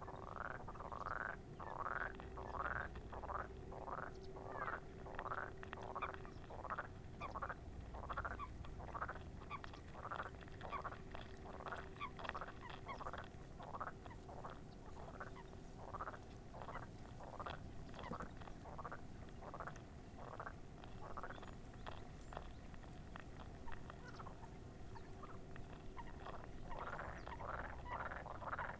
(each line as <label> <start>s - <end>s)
frogs chorus 0.1s - 28.7s